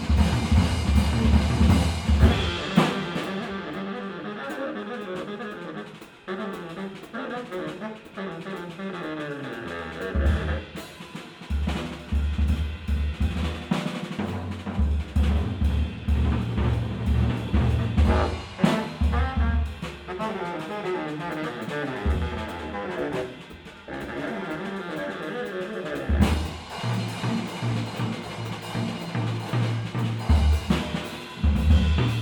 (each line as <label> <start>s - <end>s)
bass saxophone 0.0s - 13.4s
drums 0.0s - 32.2s
bass saxophone 14.6s - 32.2s